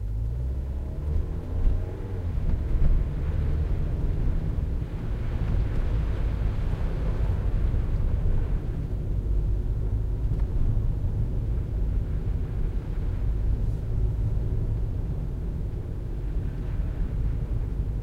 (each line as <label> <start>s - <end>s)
Car Toyota interior ride fast 0.0s - 18.0s